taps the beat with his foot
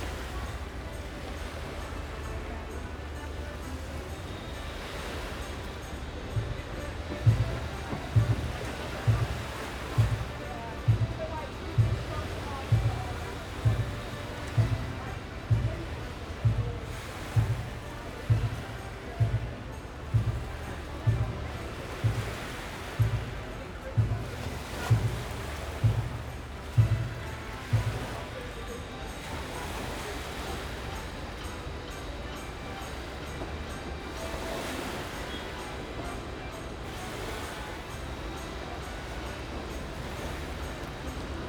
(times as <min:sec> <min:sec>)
0:07.3 0:28.3